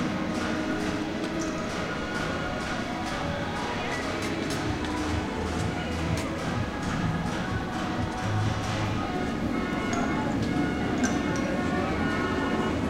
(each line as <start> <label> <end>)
0.0 people 12.8